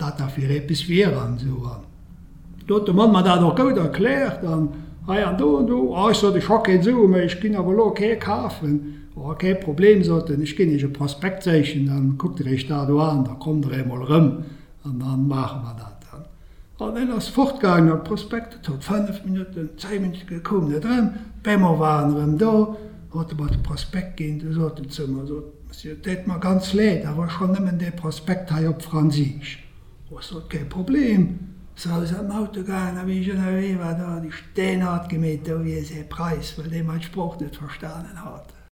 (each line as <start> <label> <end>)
2.6 local dialect 38.7